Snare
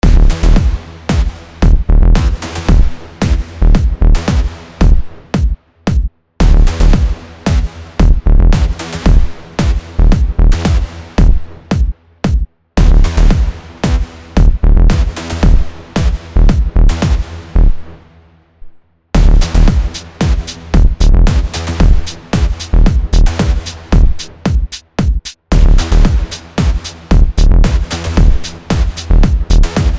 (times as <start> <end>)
0.0 1.5, 2.2 3.5, 4.2 7.8, 8.6 9.9, 10.6 14.2, 19.2 29.9